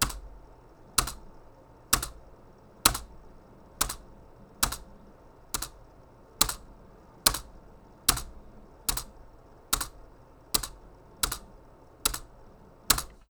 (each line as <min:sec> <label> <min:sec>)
0:01.0 Pressing a space bar on a keyboard 0:01.3
0:02.0 Pressing a space bar on a keyboard 0:02.2
0:02.9 Pressing a space bar on a keyboard 0:03.1
0:03.8 Pressing a space bar on a keyboard 0:04.0
0:04.6 Pressing a space bar on a keyboard 0:04.9
0:10.6 Pressing a space bar on a keyboard 0:11.5
0:12.1 Pressing a space bar on a keyboard 0:12.3
0:12.9 Pressing a space bar on a keyboard 0:13.2